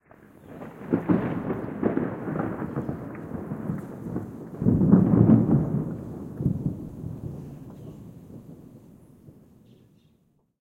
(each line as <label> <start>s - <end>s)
rolling thunder 0.0s - 9.6s
rain 0.0s - 10.0s
wind 0.0s - 10.6s